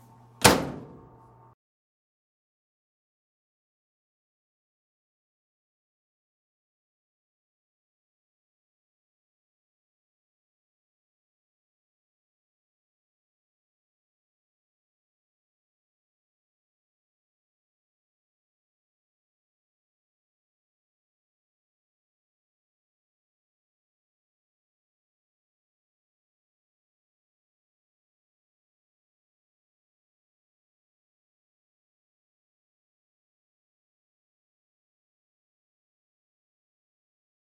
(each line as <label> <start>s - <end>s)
closing a dryer 0.4s - 1.2s